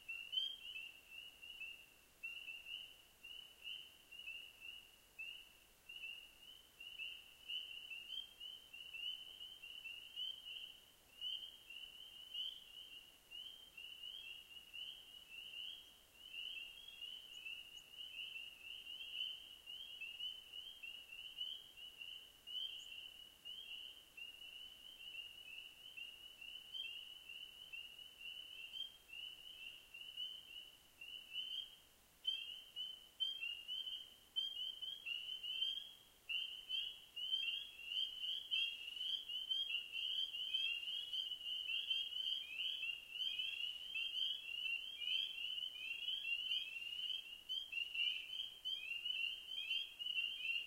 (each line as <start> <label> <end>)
0.0 spring peepers 50.6